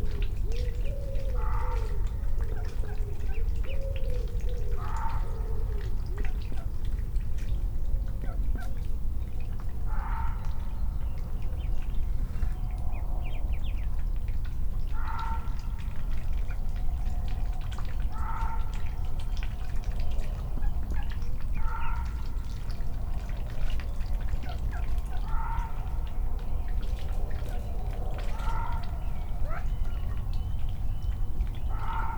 distant traffic 0.0 - 32.1
disturb the pond water 0.0 - 32.1

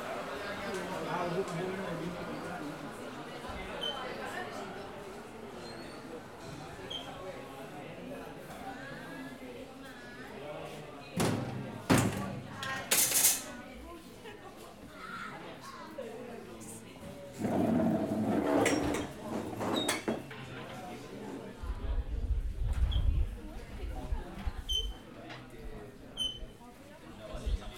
People talking 0.0 - 17.7
cutlery 12.6 - 13.5
chairs crawling 17.4 - 19.9
People talking 20.4 - 27.7

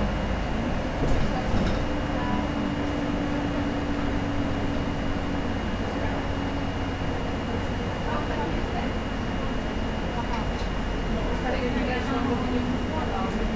bus ride 0.0 - 13.5

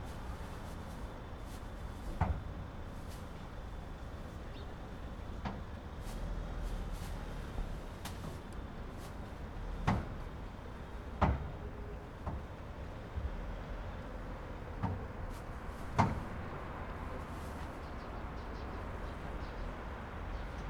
lady sorting her trash 6.0 - 9.4

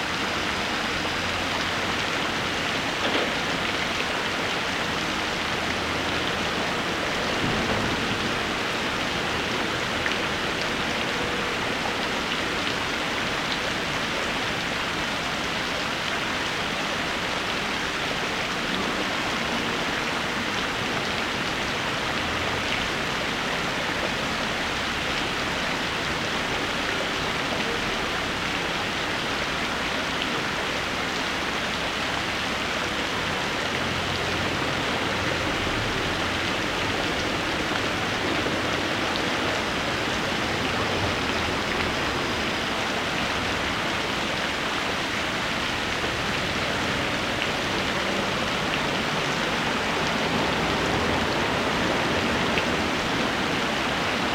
Water from fountain 0.0 - 54.3

